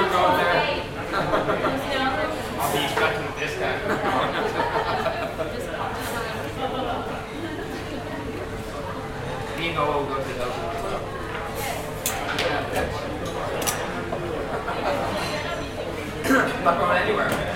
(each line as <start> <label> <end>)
0.0 people 17.5